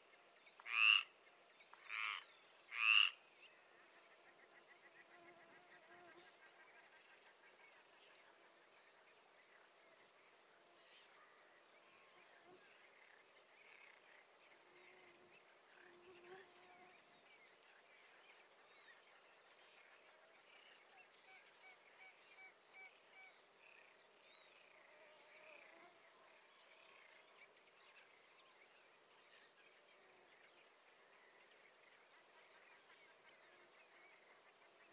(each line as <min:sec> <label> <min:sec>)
0:00.0 insect 0:34.9
0:00.5 frog 0:01.2
0:01.8 frog 0:03.2
0:04.6 mosquito 0:06.4
0:14.7 mosquito 0:17.2
0:19.8 frog 0:23.9
0:24.8 mosquito 0:27.1